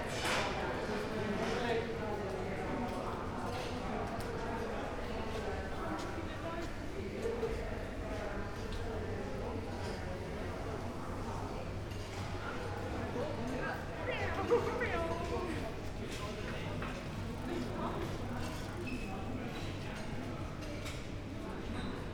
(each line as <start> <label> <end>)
12.8 walking through Hauptbahnhof 20.4